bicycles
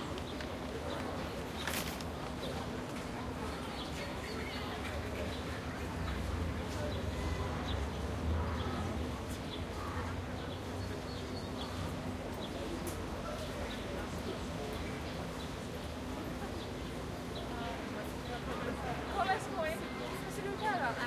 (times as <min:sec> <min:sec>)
0:00.0 0:03.6